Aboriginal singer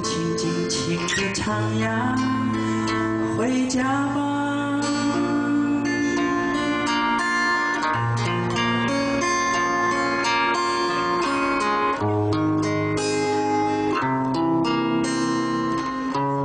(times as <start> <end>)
0.0 8.5